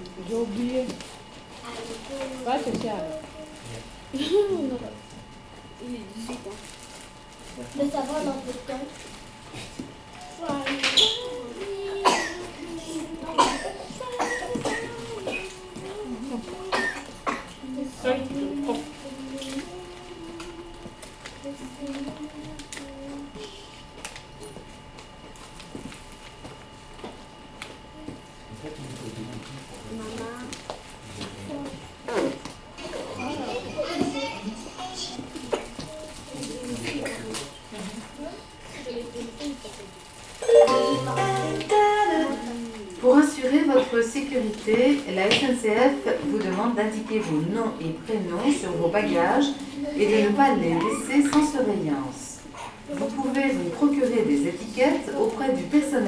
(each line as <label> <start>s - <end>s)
lively conversations 0.0s - 56.0s
train incoming Chartres station 40.4s - 42.3s